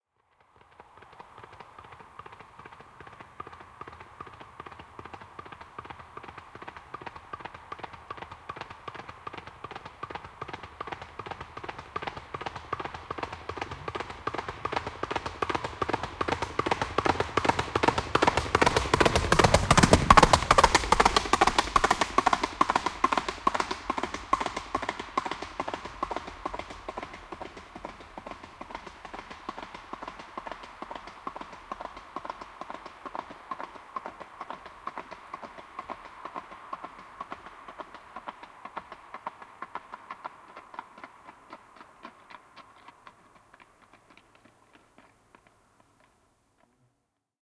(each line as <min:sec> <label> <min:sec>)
0:00.2 Horse passing by galloping on asphalt 0:47.0